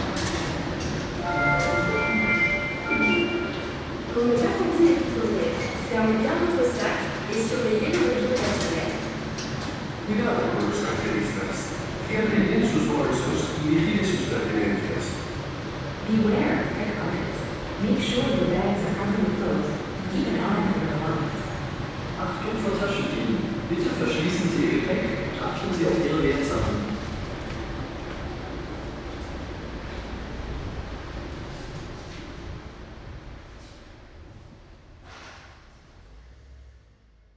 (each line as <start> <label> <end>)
0.0 Metro trip 36.2
0.0 wind 37.3